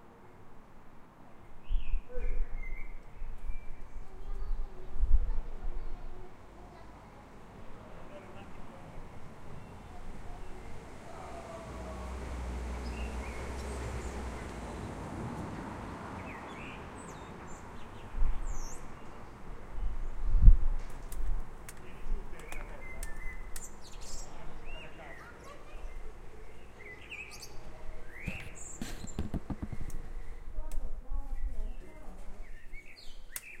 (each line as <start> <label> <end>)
1.4 birds singing 4.9
3.6 children 7.9
4.0 people chatting 9.1
8.1 birds singing 15.0
9.4 children 12.4
10.6 cars moving 17.0
15.7 birds singing 20.3
21.7 birds singing 30.5
21.8 people chatting 23.2
24.3 people chatting 26.6
24.8 children 27.5
31.3 birds singing 33.6